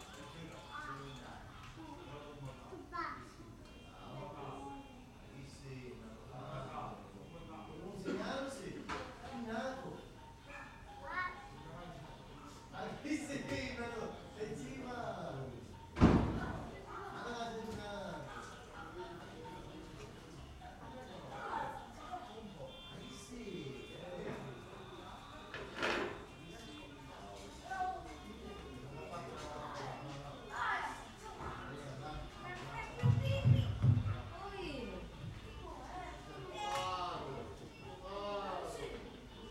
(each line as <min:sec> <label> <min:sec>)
0:00.0 chatter from the surrounding neighbours 0:39.5